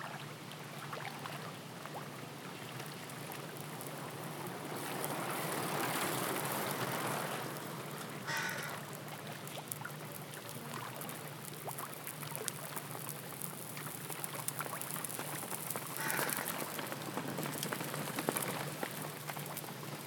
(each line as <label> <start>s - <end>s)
Water sounds 0.0s - 20.0s
bikes 3.1s - 10.8s
people passing by 3.5s - 9.4s
bikes 12.7s - 20.0s
people passing by 15.4s - 20.0s
birds 16.0s - 18.2s